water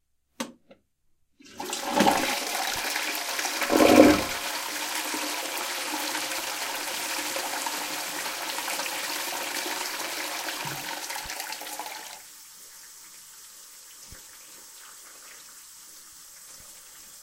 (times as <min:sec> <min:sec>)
0:10.6 0:17.2